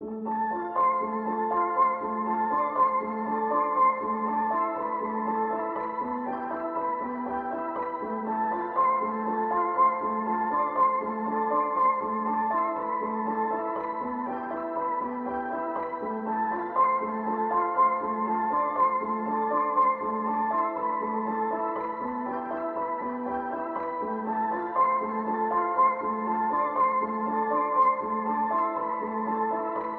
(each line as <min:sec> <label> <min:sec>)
0:00.0 piano 0:29.9